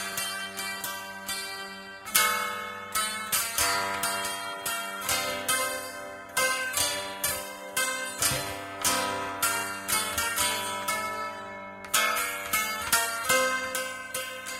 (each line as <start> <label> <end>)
0.0 Taishogoto Amateur Improvisation 14.5